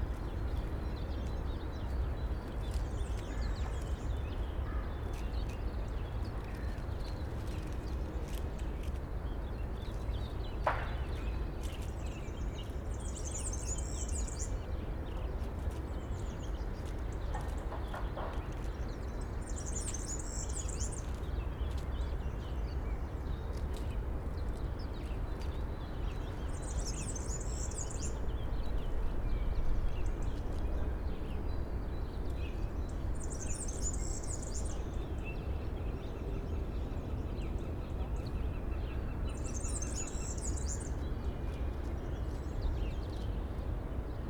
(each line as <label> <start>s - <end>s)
tits and sparrows in a bush 9.2s - 15.0s
tits and sparrows in a bush 15.9s - 23.4s
tits and sparrows in a bush 24.0s - 43.8s